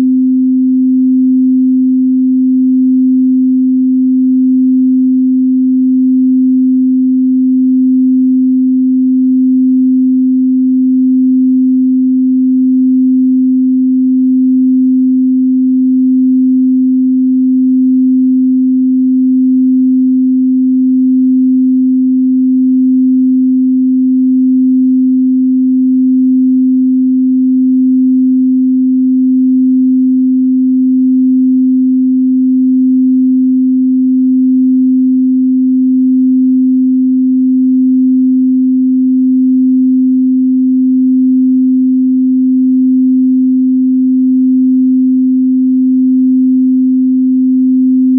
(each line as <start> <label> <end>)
0.0 Pure Sine Wave 48.1